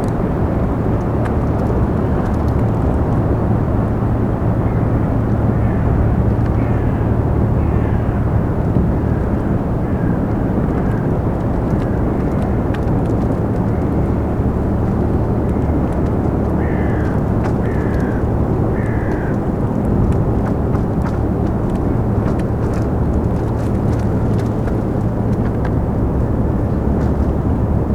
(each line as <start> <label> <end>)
0.0 cracking ice of the frozen spree river 6.9
6.6 crows 7.0
7.6 crows 8.2
8.9 cracking ice of the frozen spree river 27.9
16.4 crows 19.6